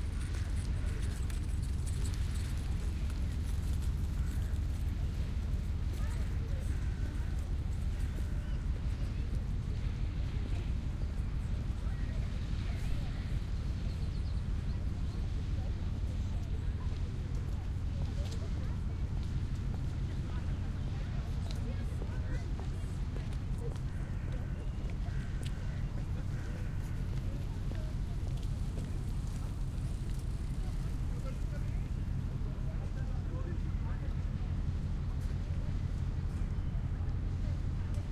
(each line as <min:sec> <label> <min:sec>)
0:00.0 people 0:38.1